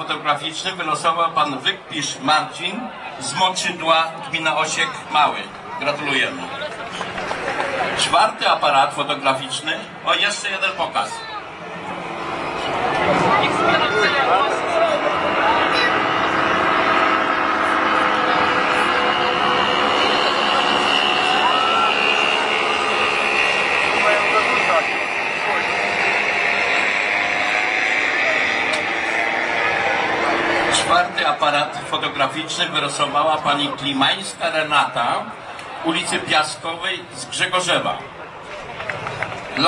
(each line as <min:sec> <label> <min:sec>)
0:12.8 voice 0:21.6
0:23.0 voice 0:38.1